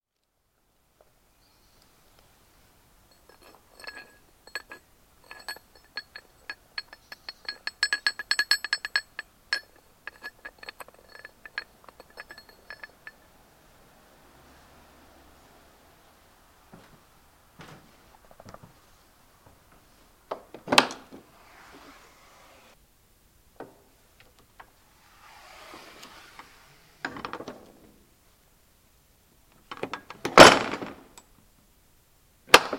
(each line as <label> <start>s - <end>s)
opening of gate 24.6s - 28.0s